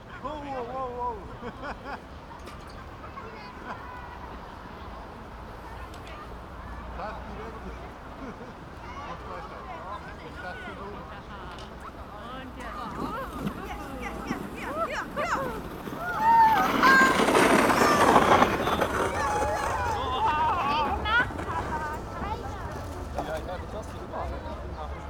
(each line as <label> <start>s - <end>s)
children and parents sledging in the dark 0.0s - 25.0s